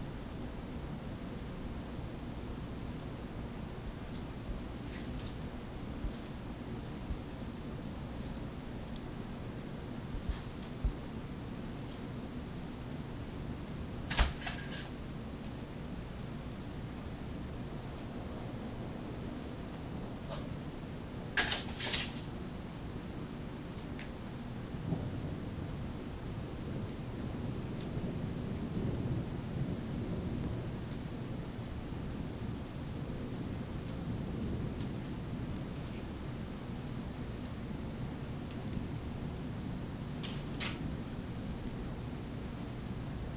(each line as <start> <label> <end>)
0.0 rain 43.3
24.8 thunder 25.8
26.6 thunder 31.5
33.0 thunder 35.8